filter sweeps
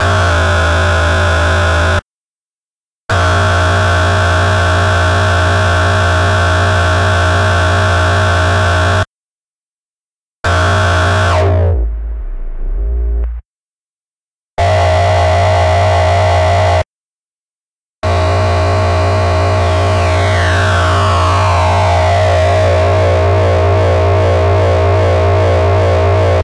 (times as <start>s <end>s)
11.3s 13.4s